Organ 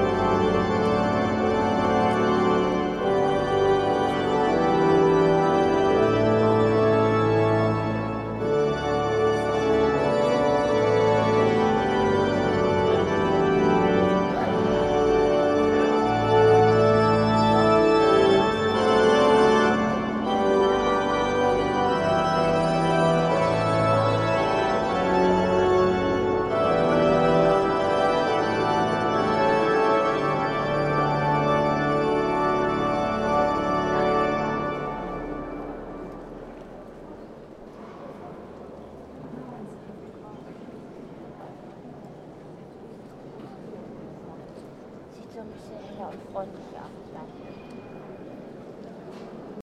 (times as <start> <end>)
0.0 37.3